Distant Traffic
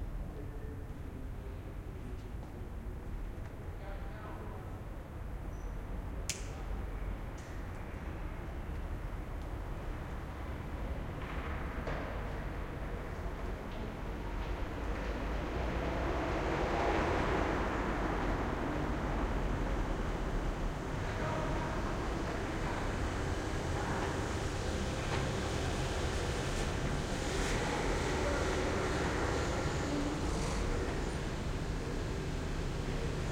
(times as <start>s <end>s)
14.2s 33.3s